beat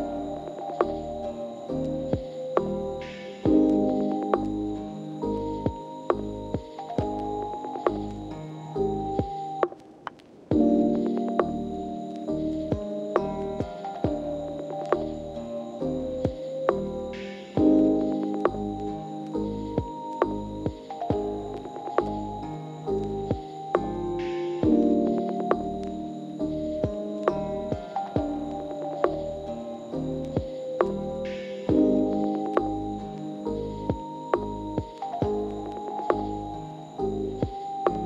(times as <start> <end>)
12.6 25.9